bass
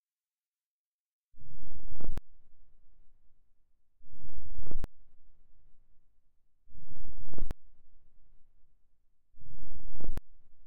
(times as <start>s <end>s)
1.4s 3.0s, 4.0s 5.8s, 6.7s 8.4s, 9.4s 10.6s